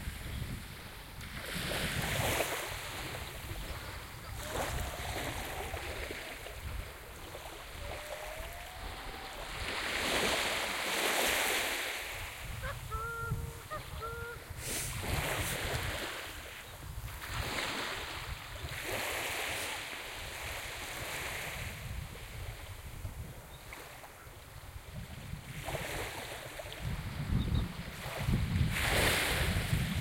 waves 0:00.0 - 0:30.0
wind 0:00.0 - 0:30.0

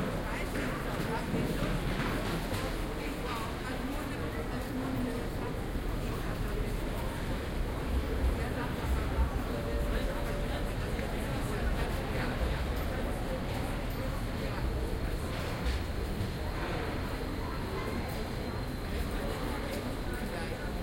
crowd 0:00.0 - 0:20.8

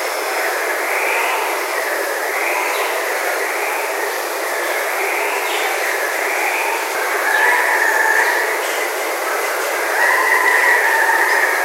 waterfall 0:00.0 - 0:11.6
Distant calls from several Andean Cocks-of-the-rock 0:06.2 - 0:11.6

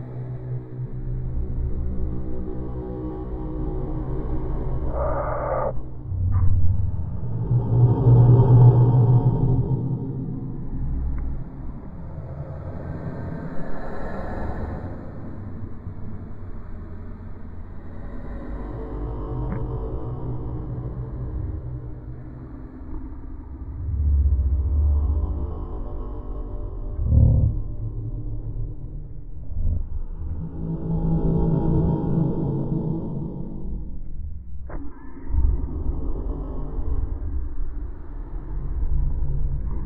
Drone 0:00.0 - 0:39.8
moan 0:04.6 - 0:09.7
growl 0:04.8 - 0:06.4
moan 0:26.7 - 0:29.9
growl 0:27.0 - 0:28.7

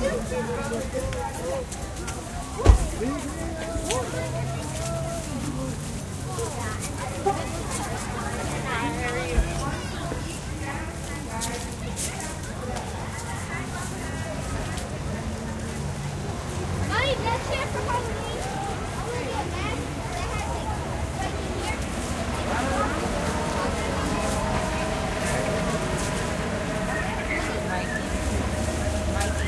cars 0:00.0 - 0:29.4
groups of children 0:00.0 - 0:29.4
voices 0:00.0 - 0:29.4

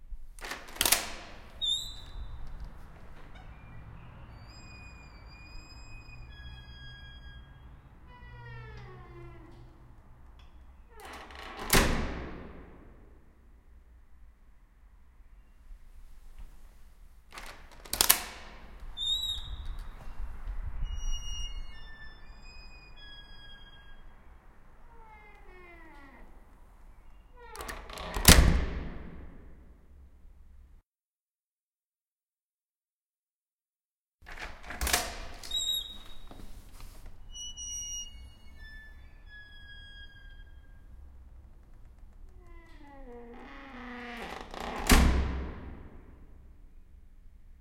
creaking door 0:00.4 - 0:13.2
creaking door 0:17.3 - 0:29.7
creaking door 0:34.2 - 0:46.4

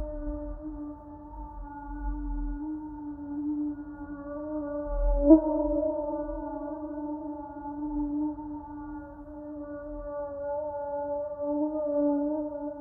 mosquito 0:00.0 - 0:12.8

